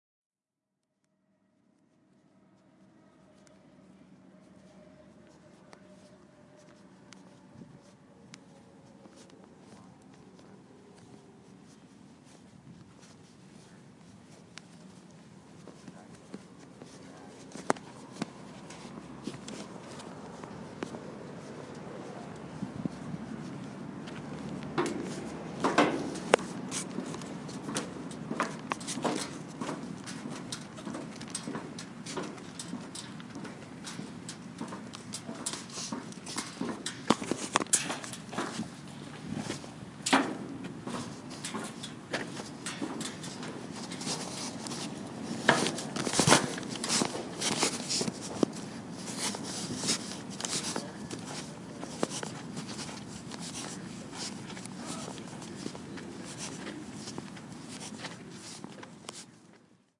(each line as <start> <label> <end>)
1.3 Traffic 59.9